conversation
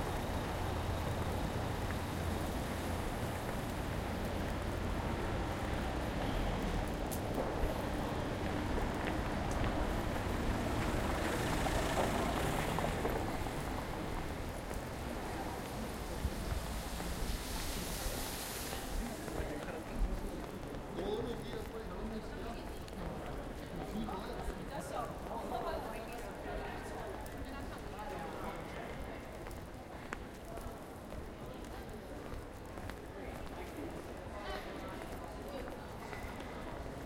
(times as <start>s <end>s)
18.4s 36.4s